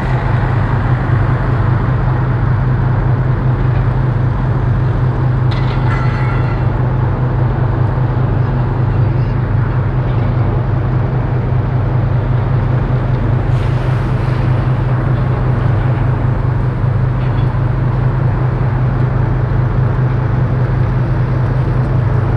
0.0s ship motor nearby 22.3s
0.0s windy 22.3s

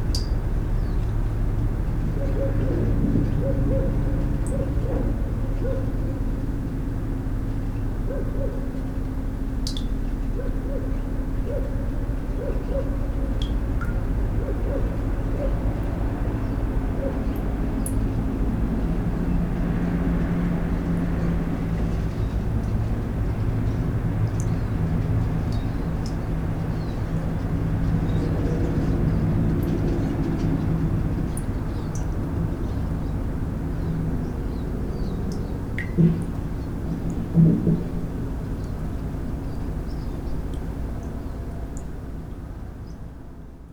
35.4s water tube 37.9s

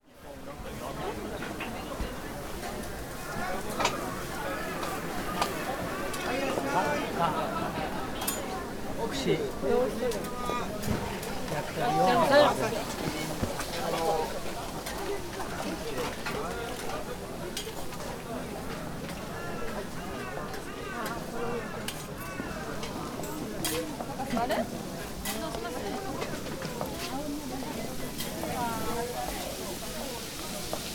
0.0s cooks making all kind of dishes, frying, steaming, boiling 30.9s
0.1s people talking 30.9s

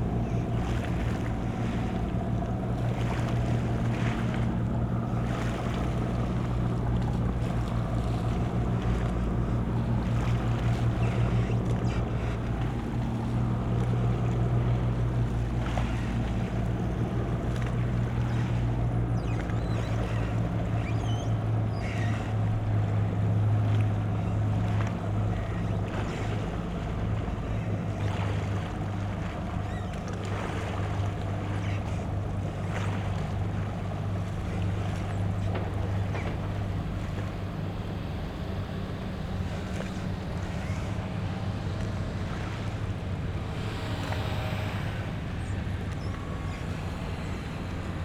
0.0s drone of a boat leaving the harbour 48.0s
0.0s light waves 48.0s

